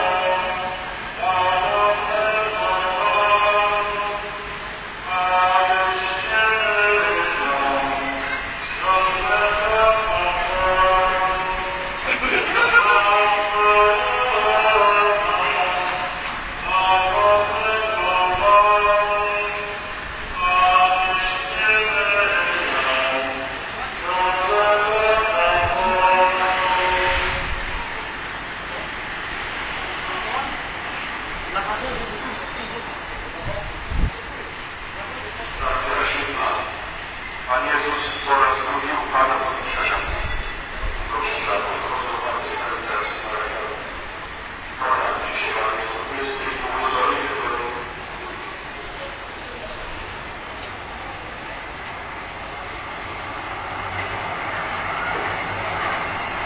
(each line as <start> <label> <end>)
0.0 singing 28.0
0.0 cars 56.4
0.0 pedestrians 56.4
0.0 religious procession 56.4
0.0 tramways 56.4